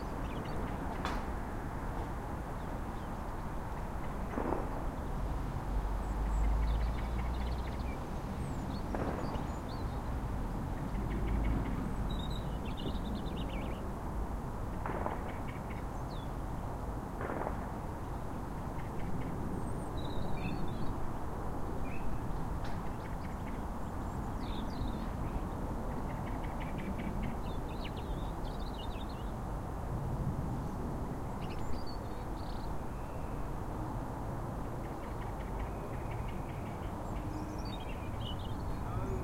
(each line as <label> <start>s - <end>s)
bird sounds 0.0s - 1.3s
bird sounds 2.4s - 14.0s
bird sounds 14.8s - 16.4s
bird sounds 18.0s - 21.0s
bird sounds 21.8s - 29.4s
bird sounds 30.6s - 33.6s
bird sounds 34.6s - 39.2s